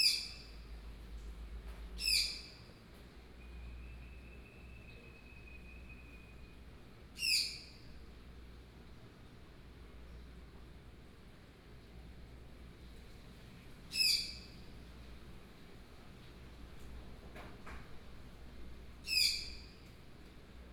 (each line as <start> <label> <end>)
7.2 Unknown birdsong 7.9
19.0 Unknown birdsong 19.8